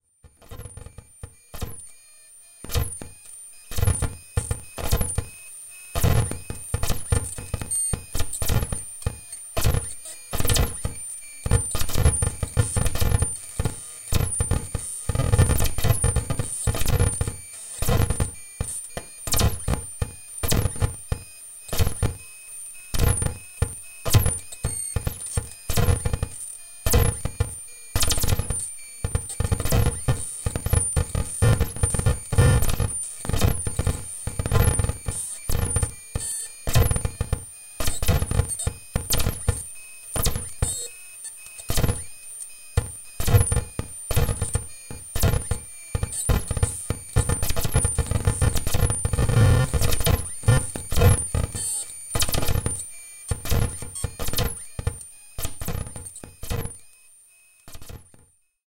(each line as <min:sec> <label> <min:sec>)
0:00.3 static 0:56.8
0:00.5 Blips and beeps 0:58.2